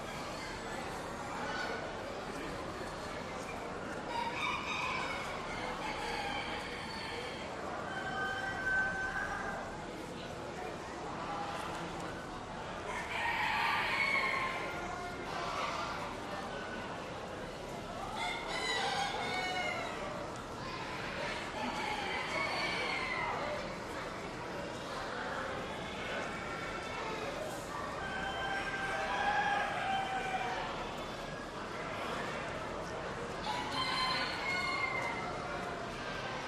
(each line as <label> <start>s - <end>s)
Other poultry are heard in the background 4.1s - 9.6s
Other poultry are heard in the background 18.1s - 23.6s
Other poultry are heard in the background 33.4s - 35.7s